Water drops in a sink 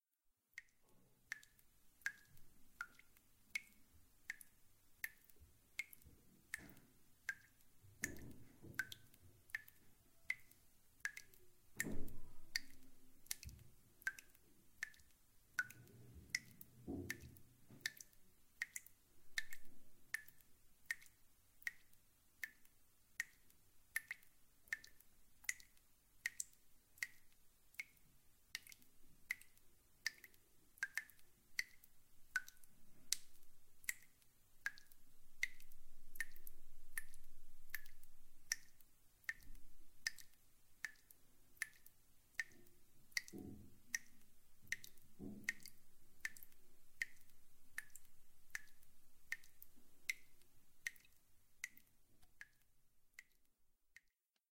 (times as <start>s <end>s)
5.8s 10.5s, 11.1s 21.8s, 42.4s 51.0s